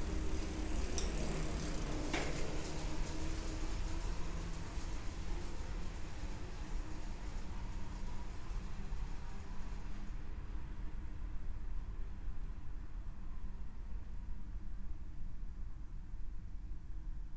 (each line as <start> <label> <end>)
0.0 cyclist enter and exit 3.9